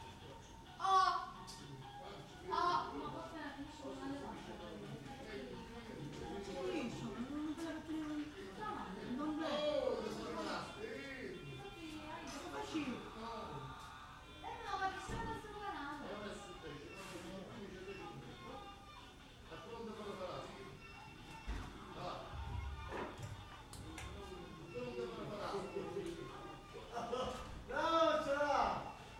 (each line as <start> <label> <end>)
0.0 chatter from the surrounding neighbours 29.1